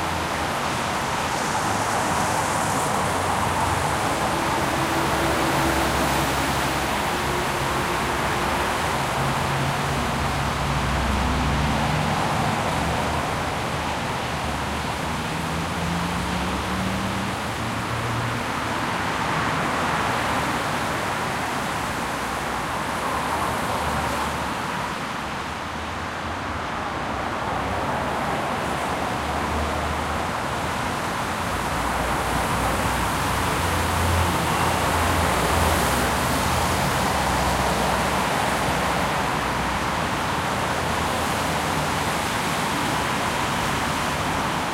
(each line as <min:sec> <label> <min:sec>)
0:00.0 WET TRAFFIC 0:44.7